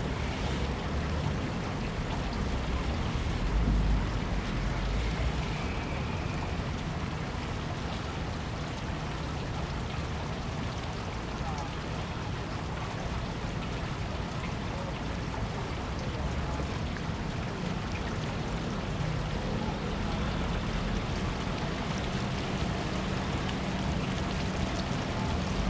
Traffic noise 0:00.0 - 0:10.3
Small fountains 0:00.0 - 0:25.6
Traffic noise 0:13.0 - 0:25.6

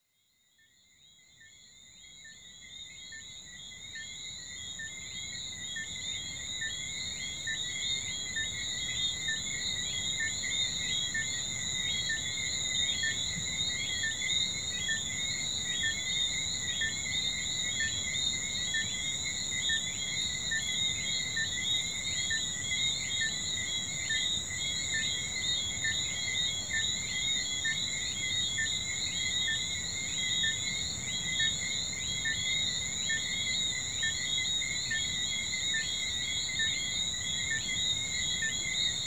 frogs 0:00.0 - 0:39.0
insects 0:00.0 - 0:39.0

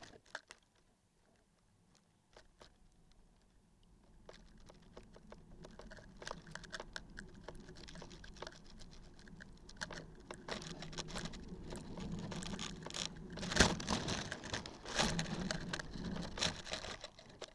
piece of cardboard in wind 0:04.0 - 0:17.5

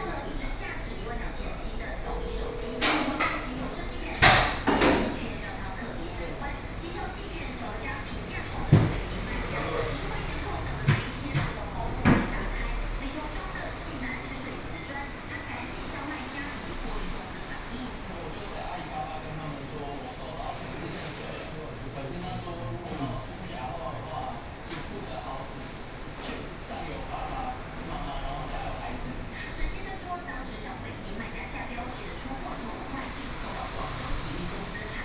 TV news sound 0:00.0 - 0:21.4
TV news sound 0:26.6 - 0:35.0

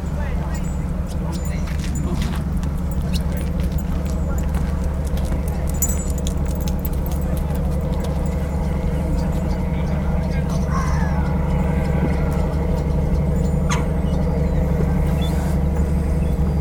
tripper boats 0:00.0 - 0:16.6

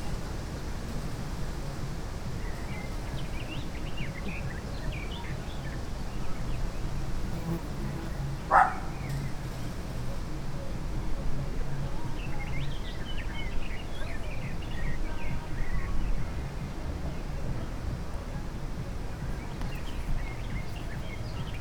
dog barking 0:08.5 - 0:08.9

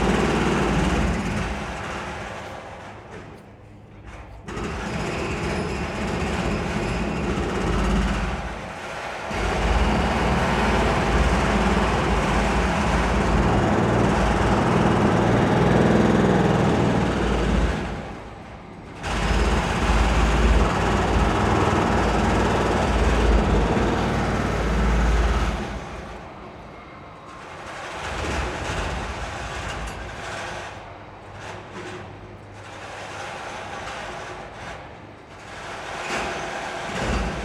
demolition sounds 0:00.0 - 0:37.4

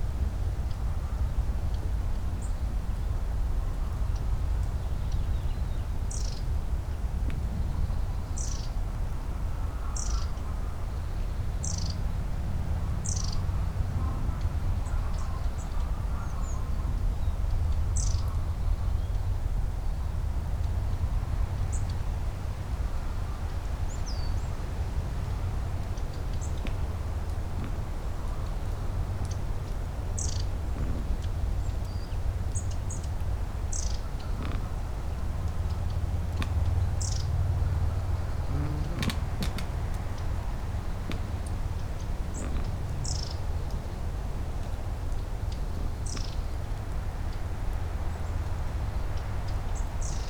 wind 0:00.0 - 0:50.2
birds 0:03.9 - 0:12.2
birds 0:21.7 - 0:50.2
pusher boat on the oder river getting closer 0:24.3 - 0:48.6
squeaking pine tree 0:33.8 - 0:44.0

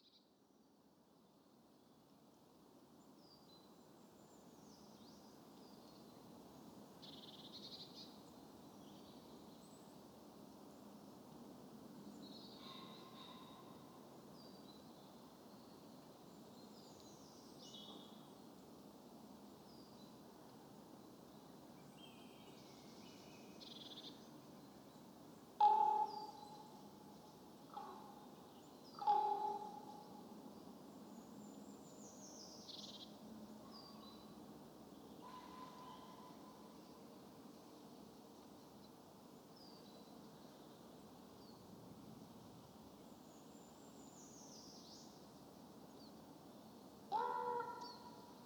gentle breeze blowing in the tops of the trees 0:00.0 - 0:48.4
one makes unusual calls from a tall fir 0:29.0 - 0:30.1
one makes unusual calls from a tall fir 0:47.1 - 0:48.1

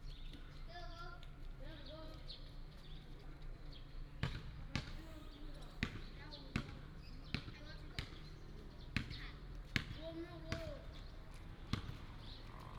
Birds sound 0:00.0 - 0:01.1
Child 0:00.6 - 0:02.2
Birds sound 0:05.2 - 0:09.5
Birds sound 0:10.1 - 0:12.7

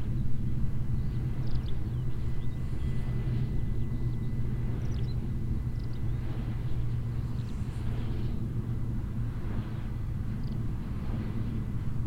motor plane flying across the sky 0:00.0 - 0:12.0
movement sound of the mills wings 0:01.1 - 0:12.0

